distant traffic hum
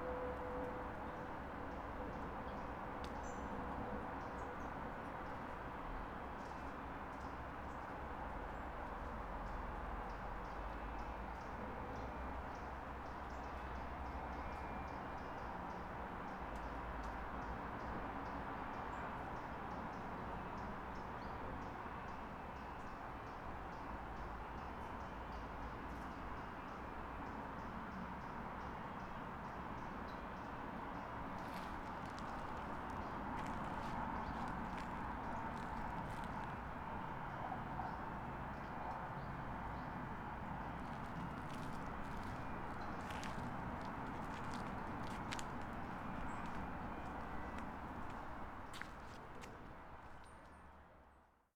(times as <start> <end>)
23.0 51.1